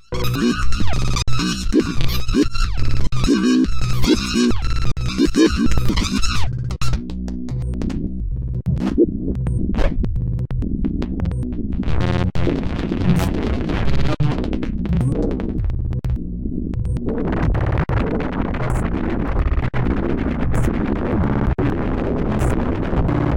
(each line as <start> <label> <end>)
0.1 Glitch Effects 8.0
8.6 Glitch Effects 10.0
10.6 Glitch Effects 16.0